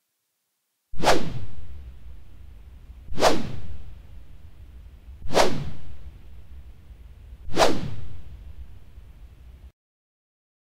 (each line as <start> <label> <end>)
1.0 Swing stick whooshes 1.6
3.1 Swing stick whooshes 3.9
5.2 Swing stick whooshes 6.0
7.5 Swing stick whooshes 8.3